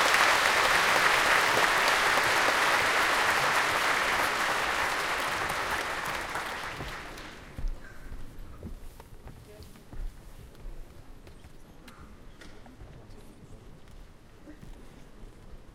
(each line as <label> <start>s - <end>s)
People claping while waiting for show 0.0s - 7.6s